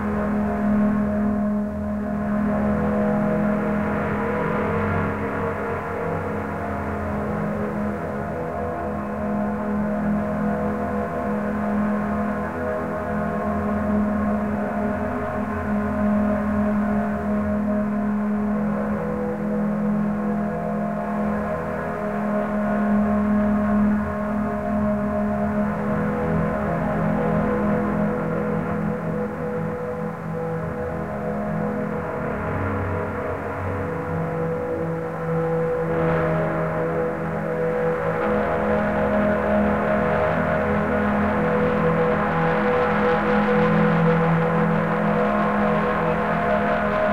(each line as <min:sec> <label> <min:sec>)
0:00.0 drone 0:47.1